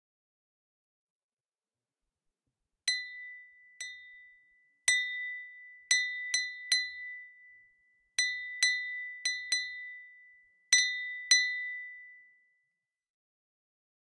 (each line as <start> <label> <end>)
8.2 Clinking champagne glass 10.0